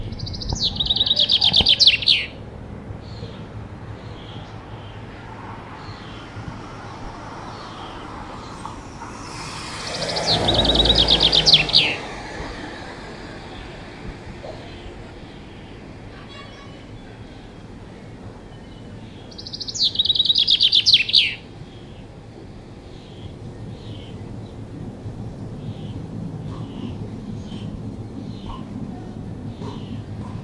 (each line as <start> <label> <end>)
0.0 Chaffinch Male Bird Song 2.4
5.7 Chaffinch Male Bird Song 13.7
18.4 Chaffinch Male Bird Song 22.1